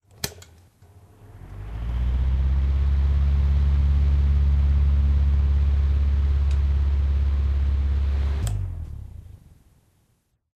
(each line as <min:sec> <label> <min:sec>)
0:00.1 small electric fan being switched on 0:09.5